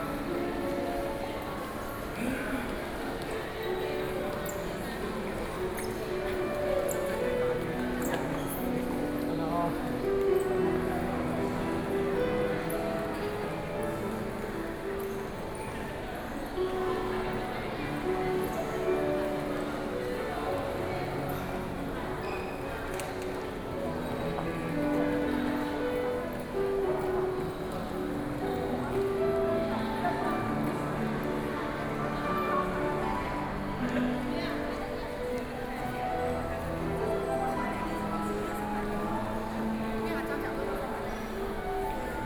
0.0s Piano Performance 42.2s

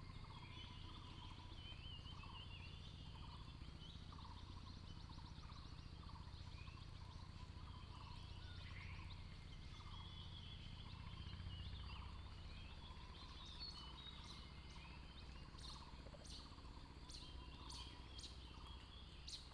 0.0s Bird sounds 19.5s

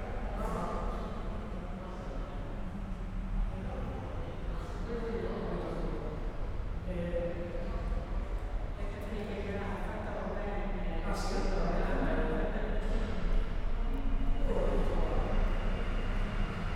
0.0s people talking 16.6s

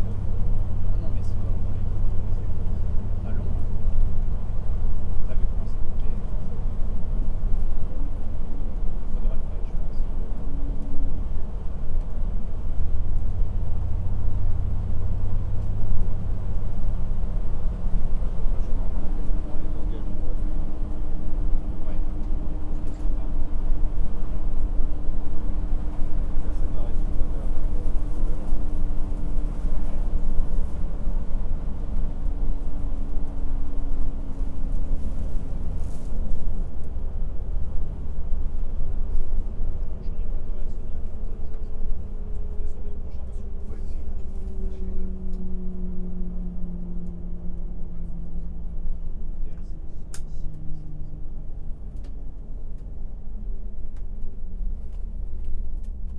0.0s bus transportation 56.1s

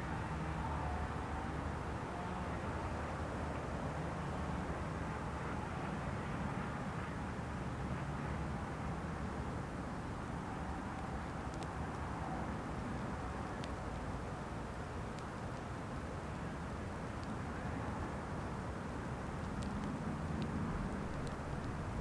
8.5s strong windm 22.0s
9.4s rain starts 22.0s

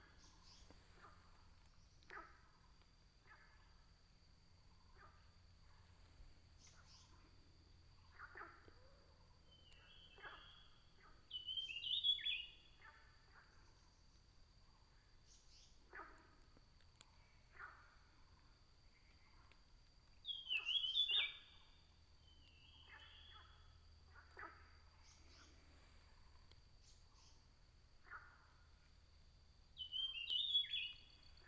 4.5s frogs chirping 31.4s
20.2s birds sound 25.9s
29.8s birds sound 31.4s

